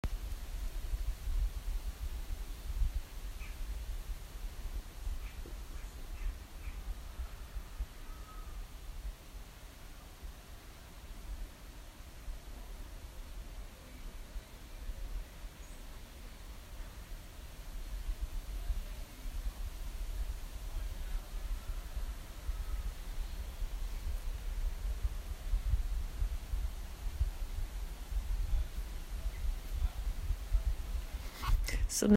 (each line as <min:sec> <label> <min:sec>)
0:00.0 Strong wind blowing through trees 0:32.1